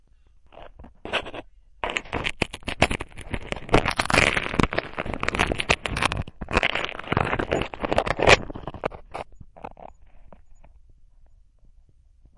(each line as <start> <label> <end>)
1.8 cracker being eaten 9.0